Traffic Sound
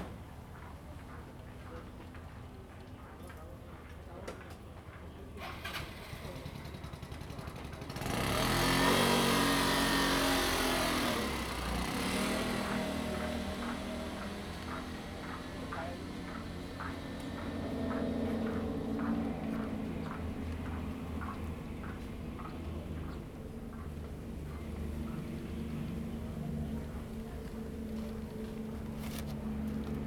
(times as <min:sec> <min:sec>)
0:07.0 0:30.0